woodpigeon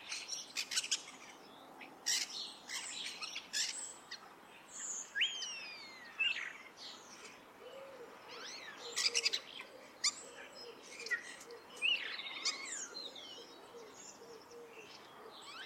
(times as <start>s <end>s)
7.2s 15.6s